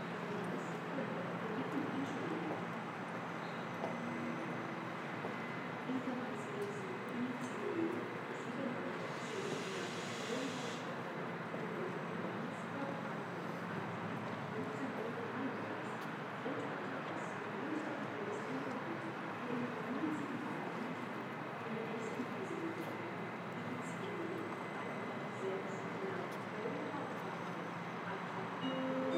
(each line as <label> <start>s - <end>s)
announcements 14.3s - 29.1s